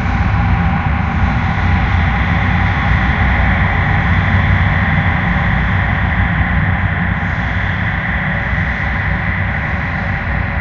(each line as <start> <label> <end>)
0.0 Drone 10.6